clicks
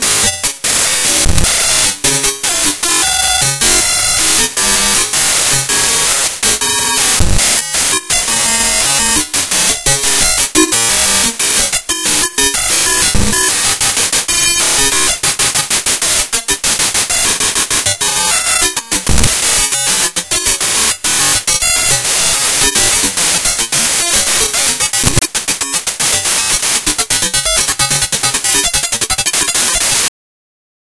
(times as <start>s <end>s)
22.6s 30.0s